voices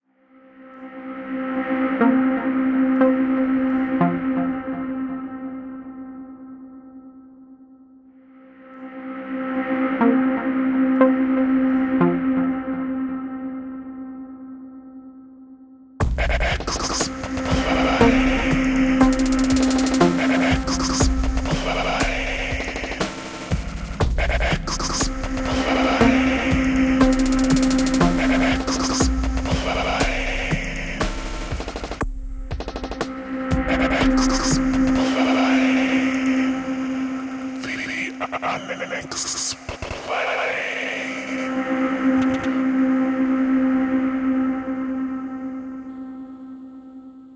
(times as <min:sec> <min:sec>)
0:16.2 0:31.2, 0:33.5 0:42.6